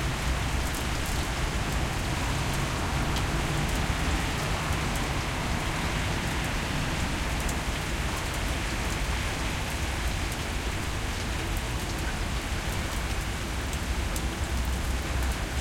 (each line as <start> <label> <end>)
0.0 medium rain 15.6